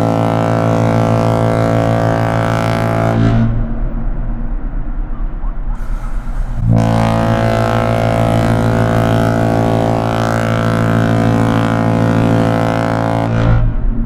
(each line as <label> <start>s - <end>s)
Ships Whistle Blast 0.0s - 3.6s
first breath of air before the main blast 5.8s - 6.7s
Ships Whistle Blast 5.8s - 13.6s